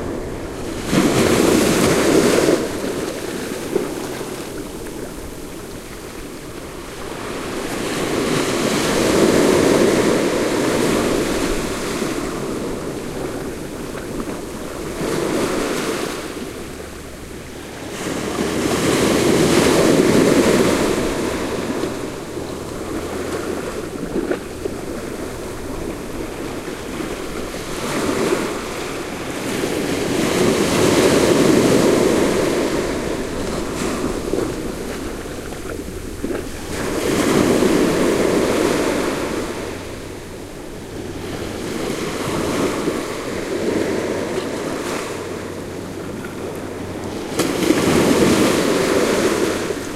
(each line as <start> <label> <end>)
0.0 sea waves crushing on the sandy beach 49.9